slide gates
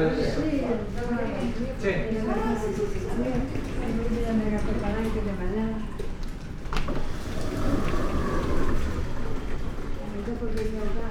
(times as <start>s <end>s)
6.9s 10.0s